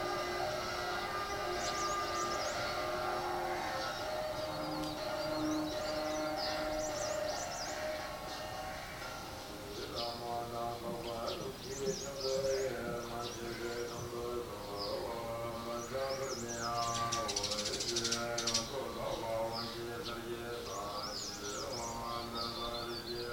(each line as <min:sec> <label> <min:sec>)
0:00.0 cockerel crow 0:09.4
0:00.0 percussion/horn crescendos 0:09.8
0:00.0 Buddhist chants being broadcast via loudspeaker 0:23.3
0:00.0 birdsong 0:23.3